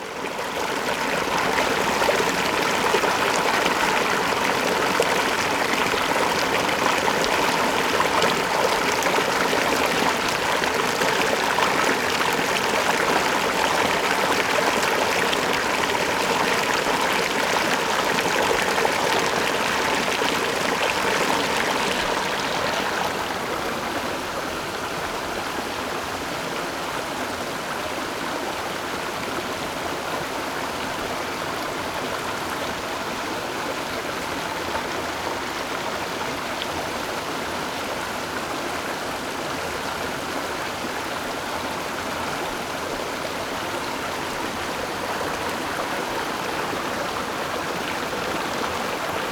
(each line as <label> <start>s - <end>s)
Stream 0.0s - 49.3s